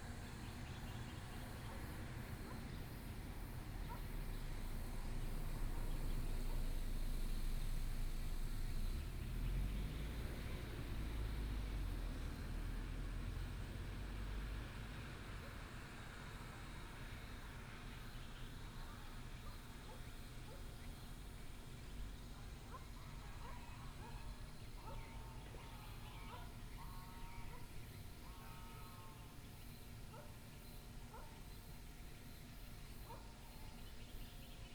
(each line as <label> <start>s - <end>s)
birds 17.9s - 34.7s